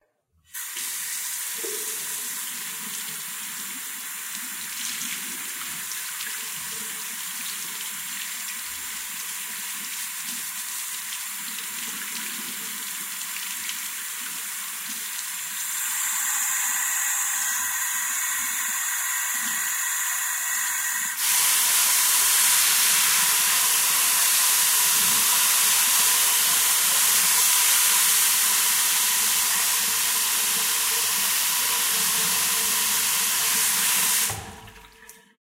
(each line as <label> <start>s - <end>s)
hands are washed 0.5s - 35.2s
Water runs slowly, then medium, then quickly 0.6s - 35.3s